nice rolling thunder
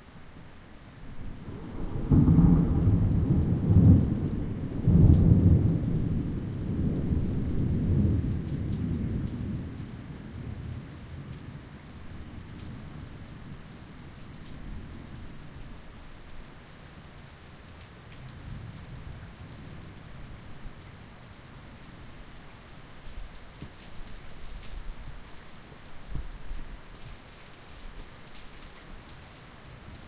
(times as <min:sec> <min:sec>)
0:01.4 0:10.6